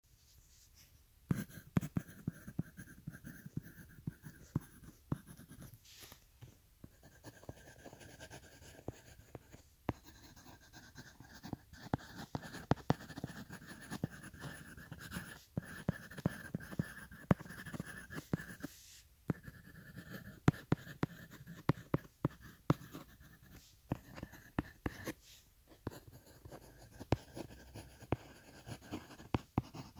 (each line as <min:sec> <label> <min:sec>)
0:00.3 Writing on paper with pencil 0:29.9